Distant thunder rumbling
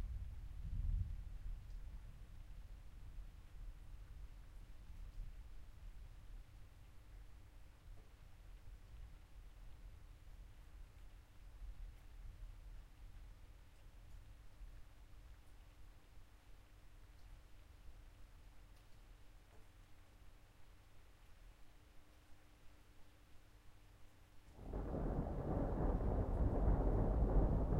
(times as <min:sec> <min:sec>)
0:24.6 0:27.7